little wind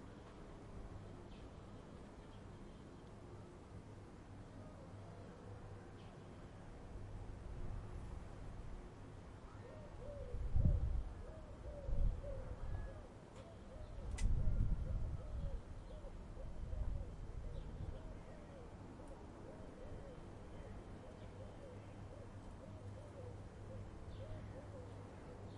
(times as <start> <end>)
6.6 20.1